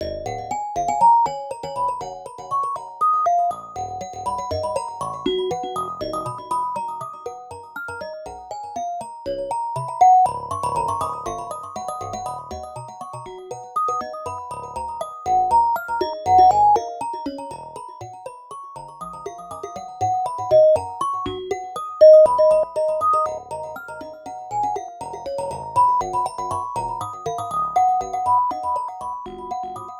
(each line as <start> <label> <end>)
16.0 xylophone 17.0
20.4 xylophone 21.0
22.0 xylophone 23.5